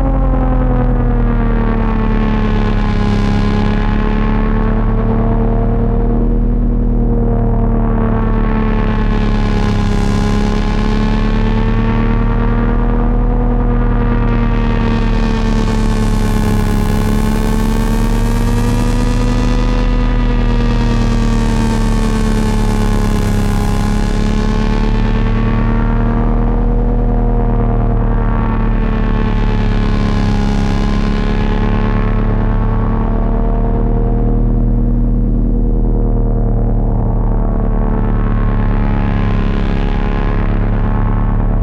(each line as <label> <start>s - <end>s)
Dark drone sound 0.0s - 41.6s